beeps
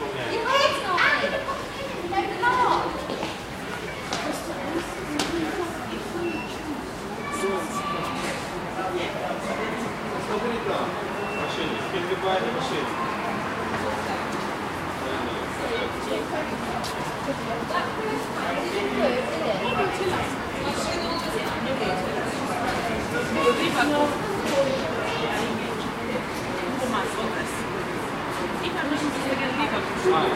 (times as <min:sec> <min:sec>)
0:06.2 0:06.6